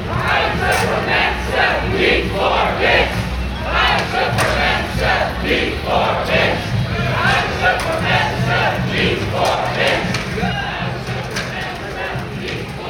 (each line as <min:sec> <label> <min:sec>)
0:00.0 skaters 0:12.8
0:00.0 two groups chanting 0:12.8